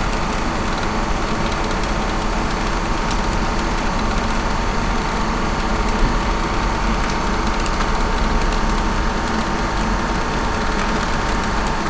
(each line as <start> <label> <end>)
0.0 Large air vent of an industrial building humming 11.8
0.0 rain droplets dripping from the roof 11.8